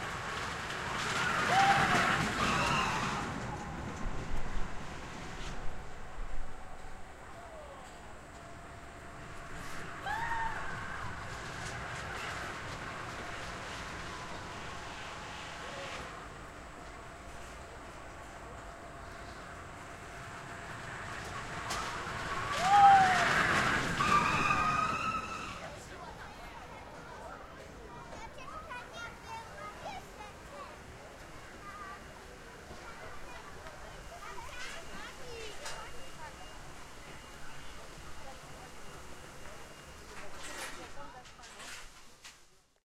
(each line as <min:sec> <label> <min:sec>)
0:00.0 carousel 0:27.0
0:00.0 carriages 0:42.5
0:00.0 train 0:42.8